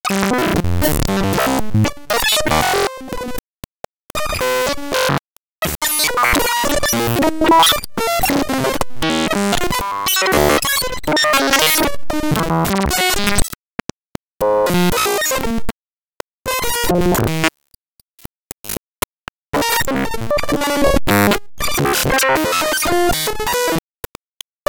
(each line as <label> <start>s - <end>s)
fractal 303 freakout 4.1s - 13.5s